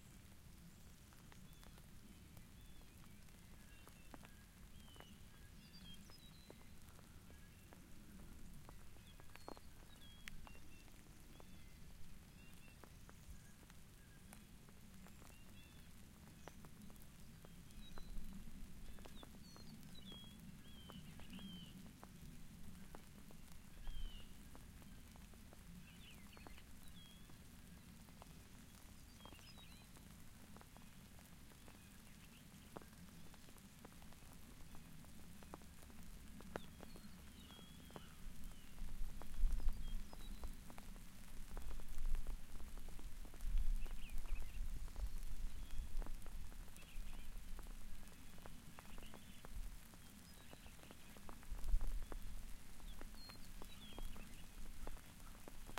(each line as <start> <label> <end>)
0.0 rain 55.7